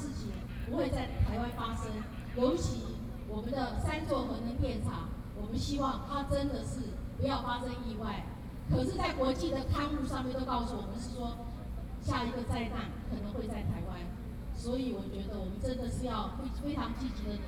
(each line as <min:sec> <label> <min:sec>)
0:00.0 Speech 0:17.4